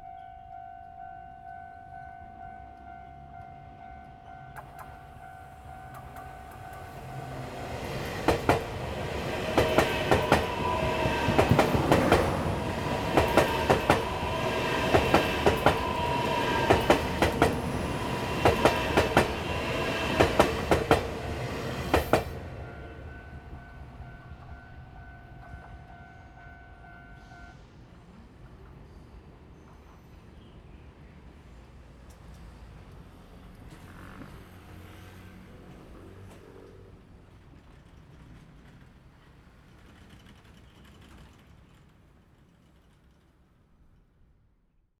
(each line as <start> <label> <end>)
0.0 The train runs through 44.1
2.6 Traffic sound 25.6
29.8 Traffic sound 37.8